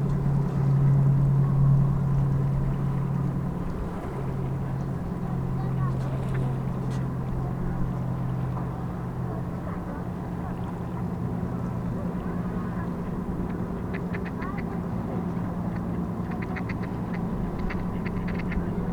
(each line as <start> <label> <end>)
0.0 towboat passes by 18.9
13.5 mother and child feed ducks 14.8
15.7 mother and child feed ducks 18.9